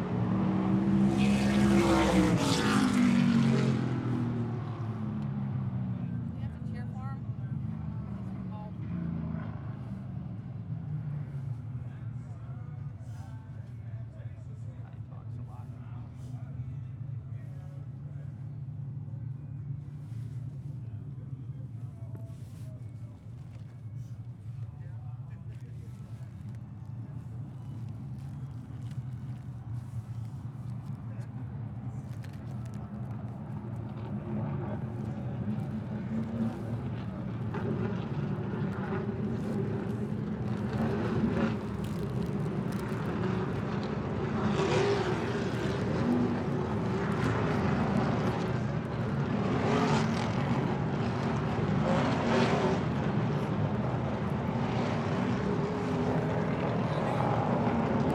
0.0s cars 58.1s

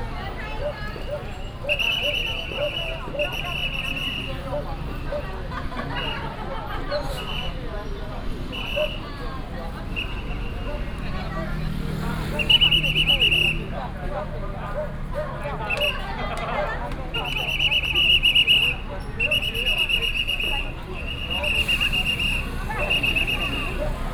0.0s A lot of people 24.1s
0.0s Traffic sound 24.1s
12.4s Whistle sound 13.7s
17.2s Whistle sound 24.0s

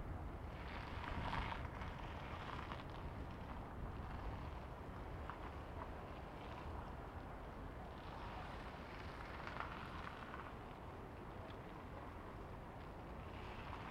0.0s windy night 13.9s

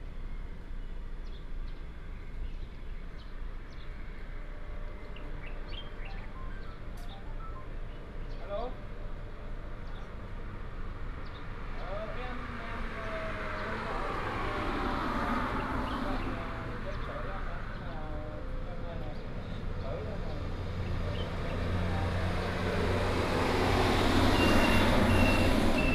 0.5s Traffic sound 25.9s
0.8s Birds sound 22.0s
23.6s Birds sound 25.9s

